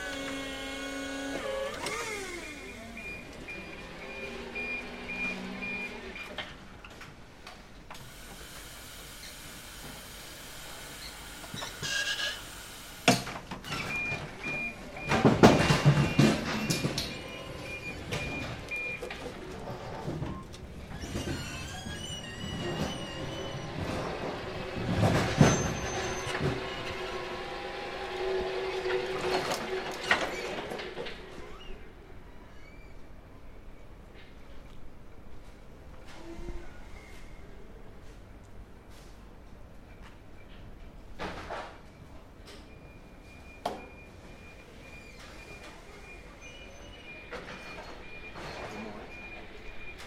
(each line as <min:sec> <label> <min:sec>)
0:00.0 electric forklift hydraulic 0:06.2
0:08.0 electric forklift hydraulic 0:20.1